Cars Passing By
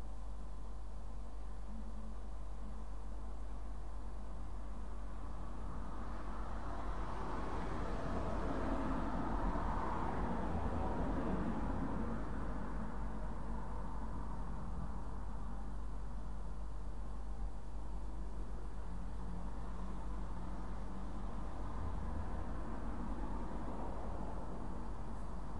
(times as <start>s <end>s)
5.5s 14.8s, 18.9s 25.5s